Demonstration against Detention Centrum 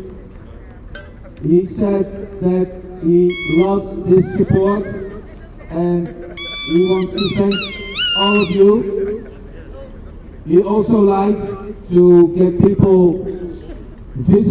3.3s 5.1s, 6.4s 8.8s

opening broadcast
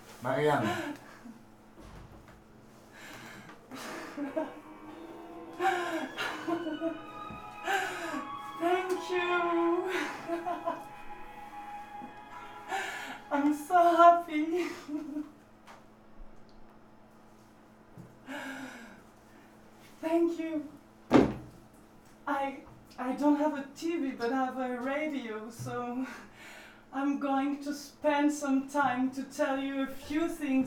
3.9s 14.6s

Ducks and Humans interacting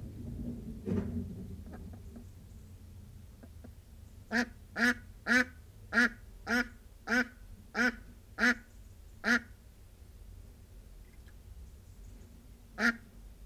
4.3s 9.5s

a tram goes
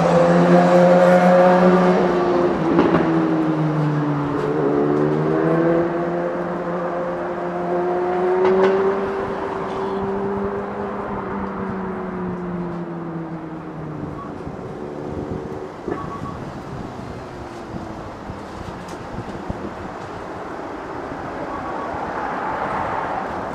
11.2s 23.5s

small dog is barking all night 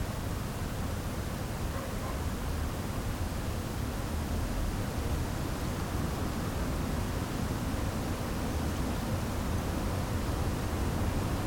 1.6s 2.8s

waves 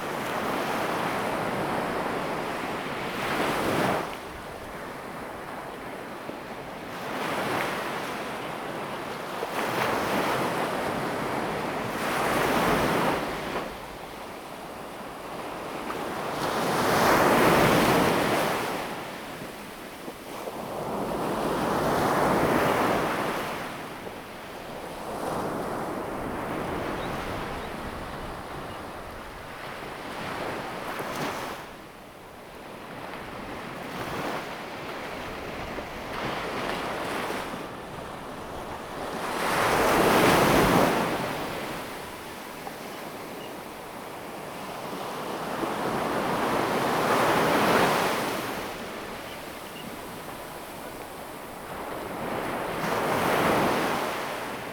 32.4s 54.7s

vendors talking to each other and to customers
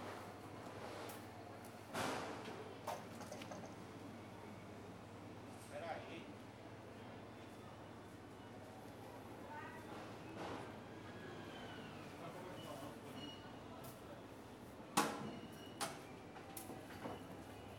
12.1s 13.8s

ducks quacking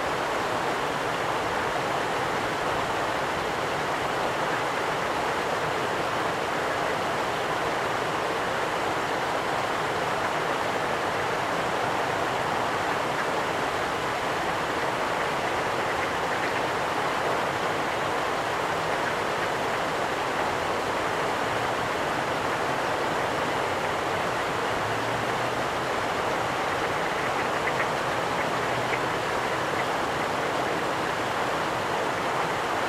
14.3s 18.2s, 26.3s 31.4s

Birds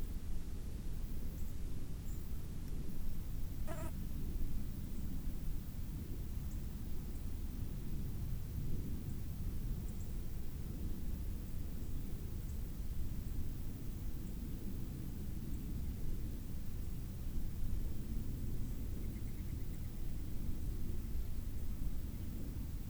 3.5s 4.1s

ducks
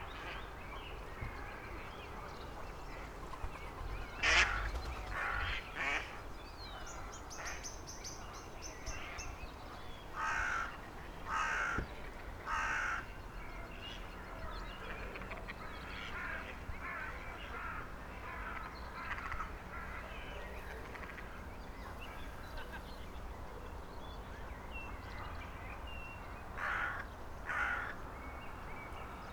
4.2s 6.2s

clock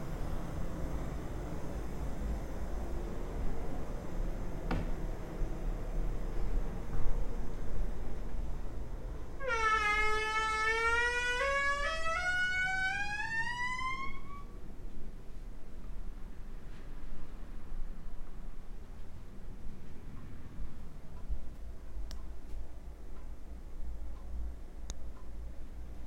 19.8s 26.0s

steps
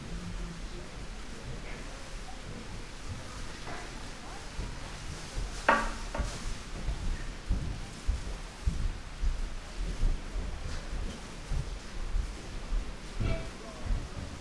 3.1s 14.4s

